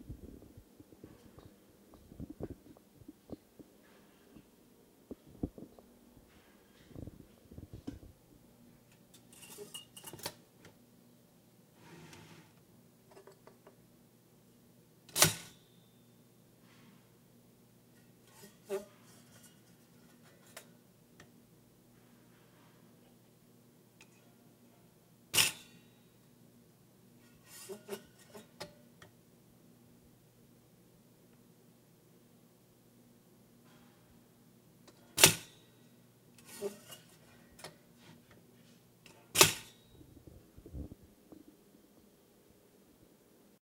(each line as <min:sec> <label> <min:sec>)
0:15.1 toaster 0:15.6
0:25.3 toaster 0:25.9
0:35.2 toaster 0:35.6
0:39.1 toaster 0:39.9